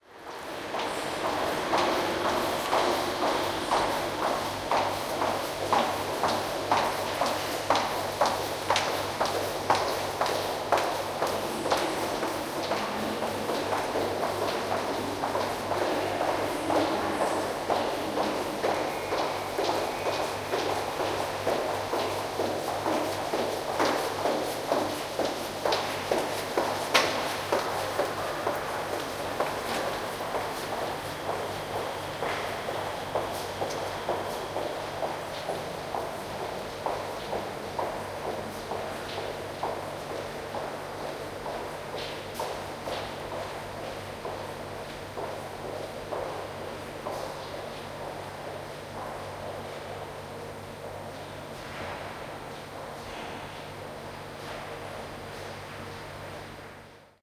0.3s high heels 44.4s

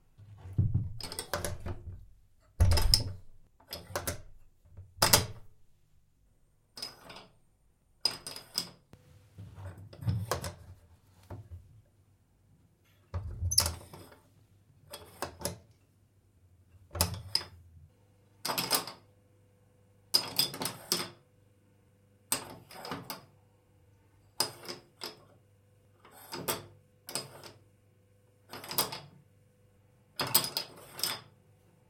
2.6s close door 5.5s
2.6s Door latch sound 4.3s

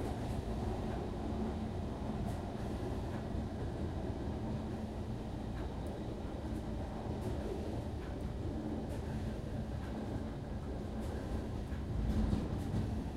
0.0s Train - Interior - Slow Down & Stop 13.1s

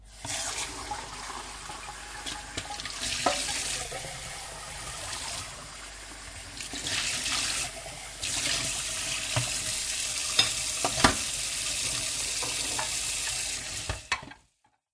1.6s tap running 5.4s
8.3s tap running 14.3s

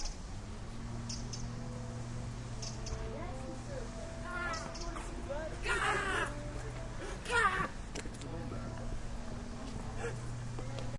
0.0s birds 7.0s

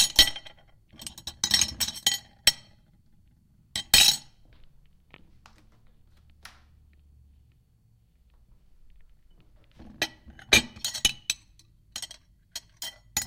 0.0s Dishes I moved around in the sink and against eachother 2.9s
9.6s Dishes I moved around in the sink and against eachother 13.2s

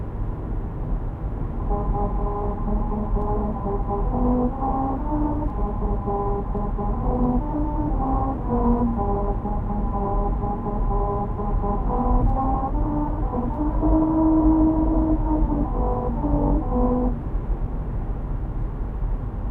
1.4s musical road 17.7s

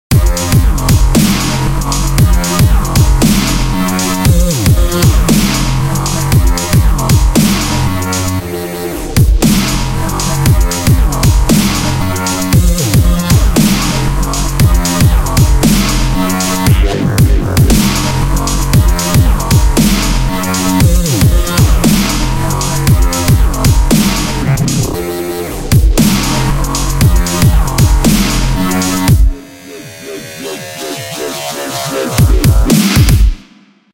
0.0s bass 33.4s
0.2s synth 33.0s
1.2s snare 1.7s
3.2s snare 3.8s
5.3s snare 5.8s
7.4s snare 7.9s
9.2s hat 33.5s
9.4s snare 9.8s
11.5s snare 12.0s
15.6s snare 18.2s
19.8s snare 20.9s
26.0s snare 26.5s
28.0s snare 29.1s

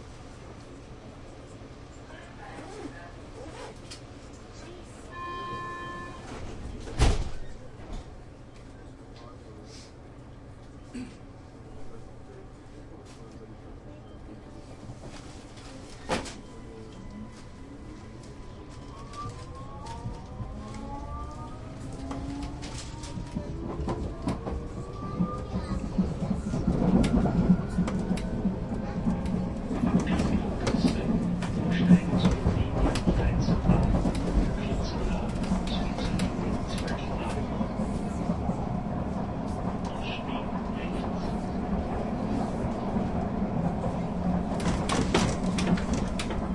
21.8s people 46.5s

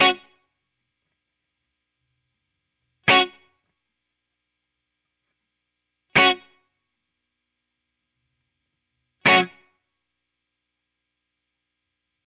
0.0s guitar 0.4s
3.0s guitar 3.7s
6.1s guitar 6.7s
9.2s guitar 9.8s

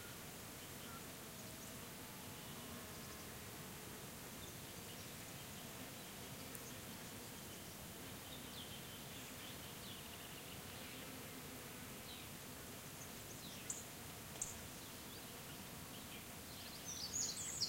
0.0s insects buzzing 17.6s
15.9s different birds singing 17.6s

